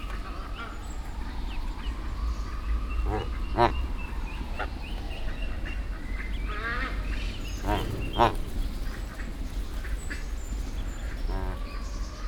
Goose 3.0 - 3.8
Ducks 3.0 - 3.9
Ducks 5.4 - 12.0
Goose 7.5 - 9.0
Goose 11.1 - 11.8

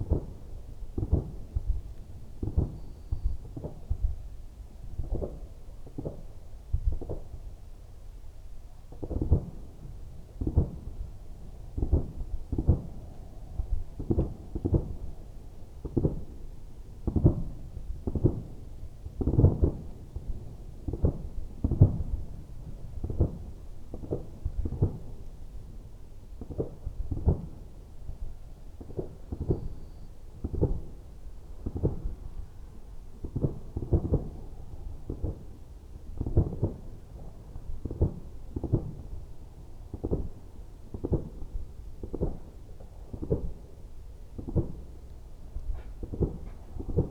distant firework display 45.7 - 47.1

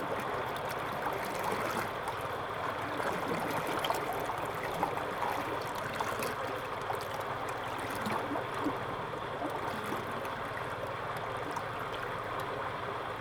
Irrigation waterway 0.0 - 13.2

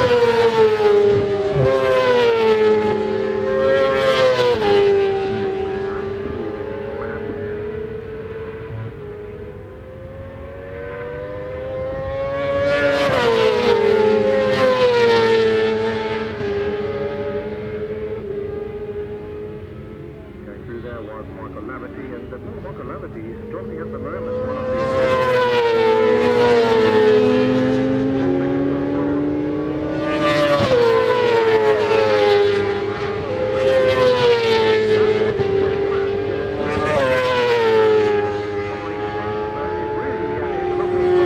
Supersports Qualifying 0.0 - 41.2

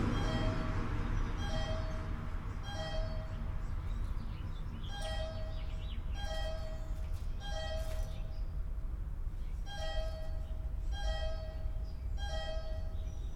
Mysterious bunker signal tone 0.0 - 3.4

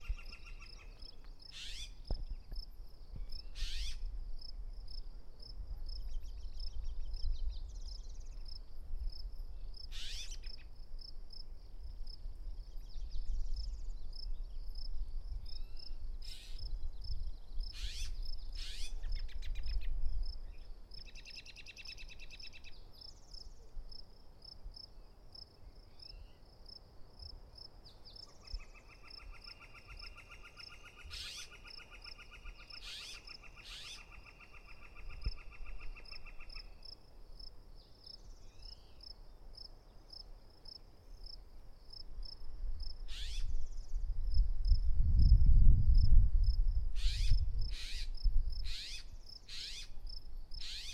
other birds 0.0 - 2.6
Robins 0.0 - 2.6
crickets 0.0 - 50.9
Robins 3.2 - 4.5
other birds 3.2 - 4.0
Robins 9.6 - 11.1
Robins 17.6 - 19.9
Robins 27.9 - 42.4
Robins 43.0 - 43.8
Robins 47.0 - 50.9

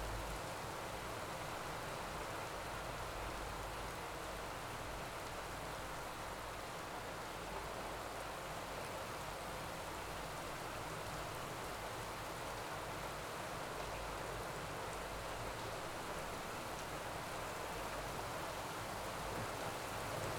rain 0.0 - 20.3

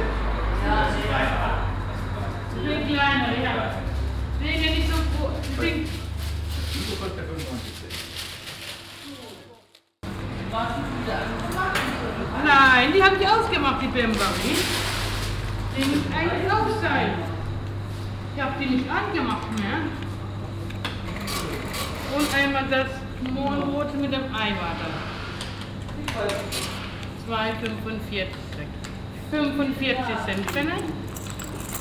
voices of the shop assistants and the customer 0.0 - 31.8
paper bags 3.8 - 9.9
money 30.3 - 31.8

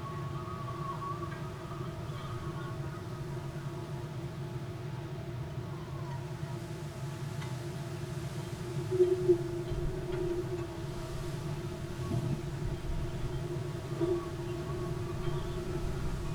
wind blown reed 7.9 - 16.3

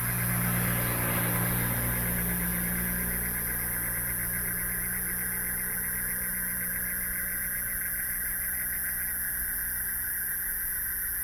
Traffic Sound 0.0 - 6.9

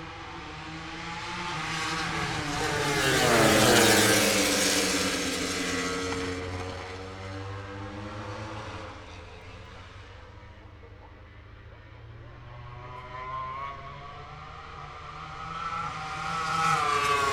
Motorcycle Grand Prix 0.0 - 17.3

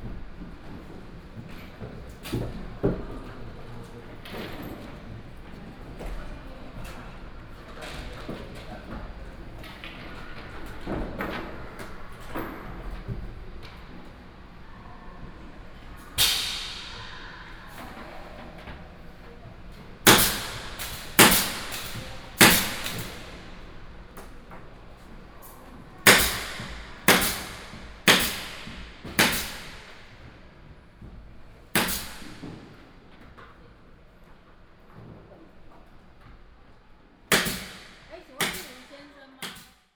construction 0.0 - 39.8

